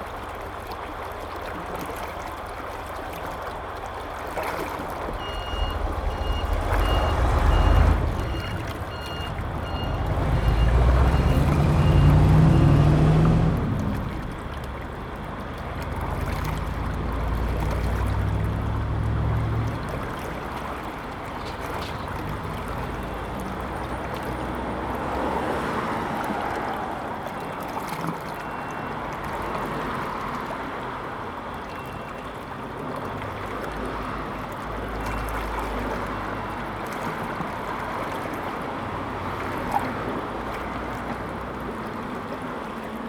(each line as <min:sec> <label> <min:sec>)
0:00.0 Irrigation waterway 0:43.0
0:02.3 Traffic Sound 0:43.0